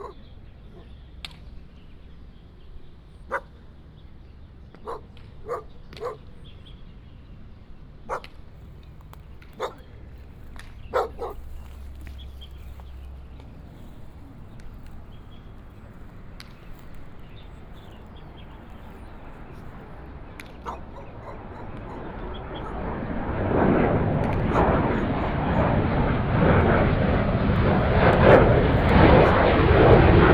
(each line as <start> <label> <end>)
0.0 Dog sounds 1.0
0.0 Birds sound 23.6
3.3 Dog sounds 3.5
4.8 Dog sounds 6.3
8.1 Dog sounds 8.3
8.1 Playing baseball 30.3
9.5 Dog sounds 9.9
10.8 Dog sounds 12.1
20.4 Dog sounds 23.5
24.2 Dog sounds 26.0